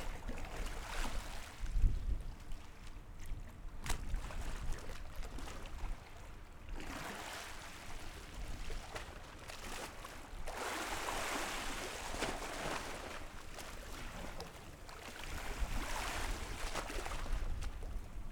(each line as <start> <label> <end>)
0.0 Tide 18.3